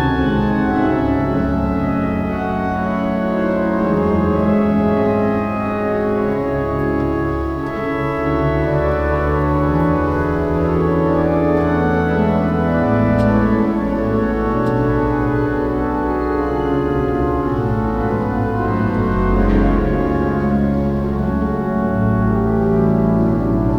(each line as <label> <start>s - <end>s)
Organ concert 0.0s - 23.7s